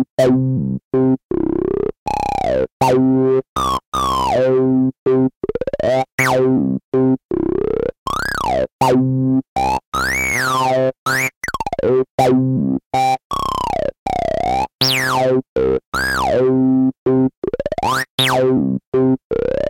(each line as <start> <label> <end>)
0.0 bassline 19.6